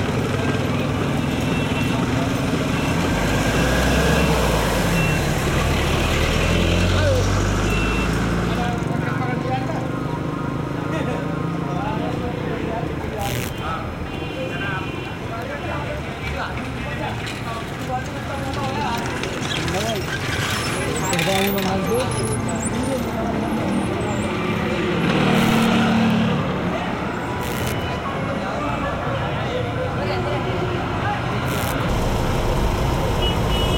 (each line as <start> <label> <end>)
0.0 Pedestrians 33.7
0.0 unusually low traffic 33.7